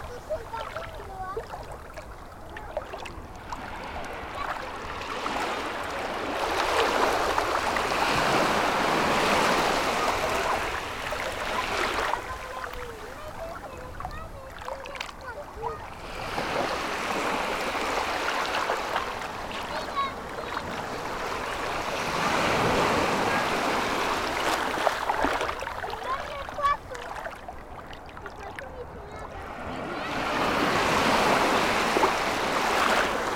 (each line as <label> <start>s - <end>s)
The sea 0.0s - 33.3s
children are playing in the water 0.0s - 33.3s